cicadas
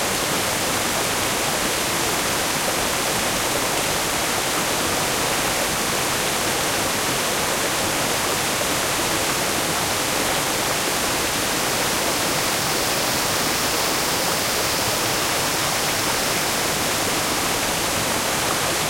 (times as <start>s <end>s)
10.7s 18.8s